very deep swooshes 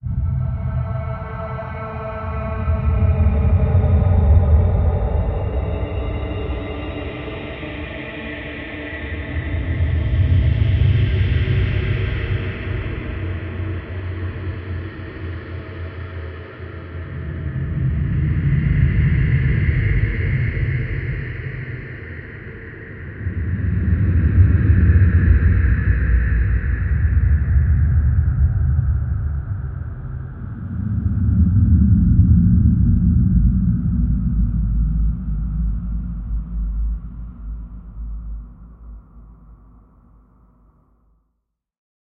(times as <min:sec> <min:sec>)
0:23.2 0:39.8